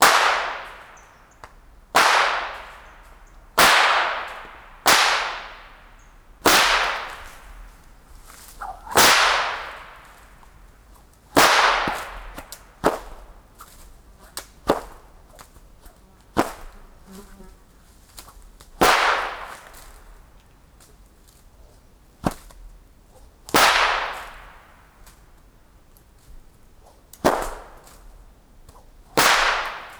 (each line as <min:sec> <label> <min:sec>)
0:03.6 Whip breaking sound barrier 0:05.6
0:06.5 Whip breaking sound barrier 0:07.5
0:08.6 Whip breaking sound barrier 0:10.2
0:11.4 Whip breaking sound barrier 0:13.2
0:23.6 Whip breaking sound barrier 0:24.6
0:29.2 Whip breaking sound barrier 0:29.9